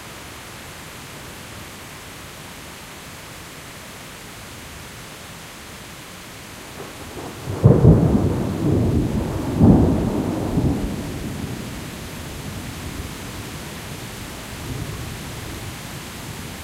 0.0s Rain 16.6s
6.8s Thunder 13.2s

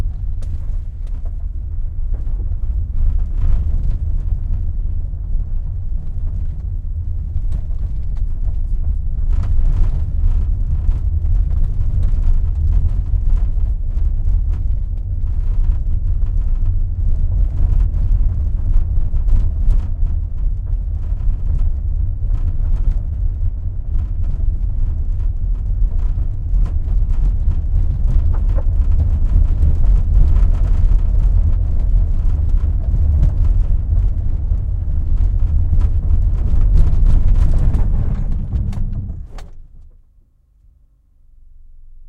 0.0s driving on bumpy road with braking 40.2s

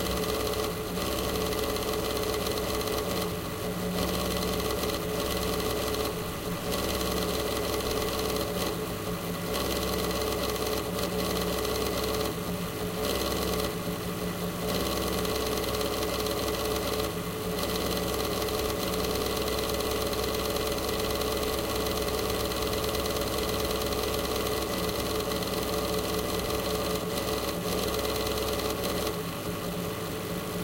0.0s pc-cooler 30.6s

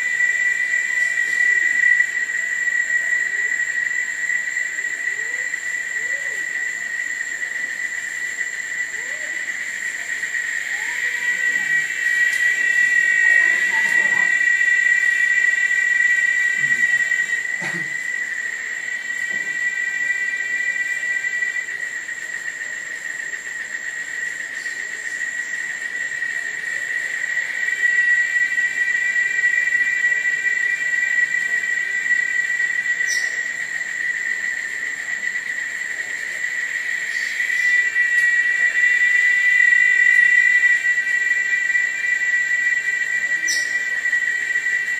0.0s insect that is singing 44.9s

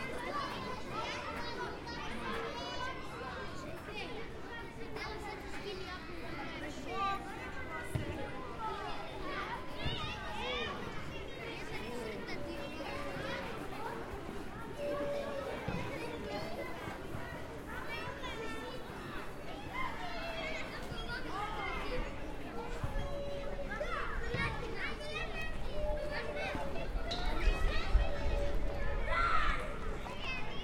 0.0s CHILDREN WALLA 30.6s

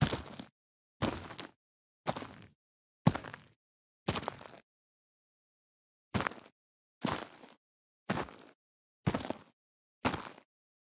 0.0s Footsteps Boots Gritty Ground Stones Leaves 2.4s
7.1s Footsteps Boots Gritty Ground Stones Leaves 9.5s

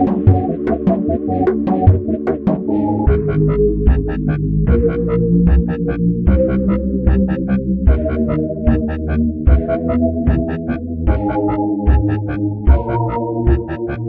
0.0s melody 5.2s

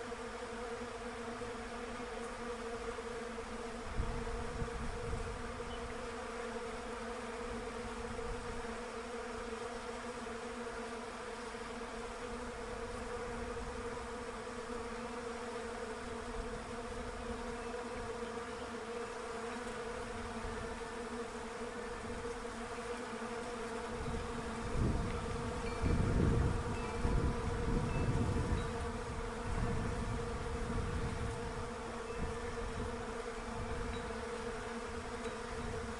0.0s Bees in a Russian Olive Tree 35.9s

